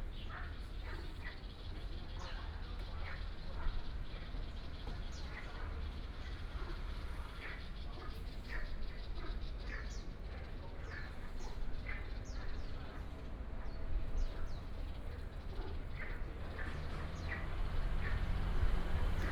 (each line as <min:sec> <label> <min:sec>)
0:00.0 birds 0:19.3
0:00.0 Traffic sound 0:19.3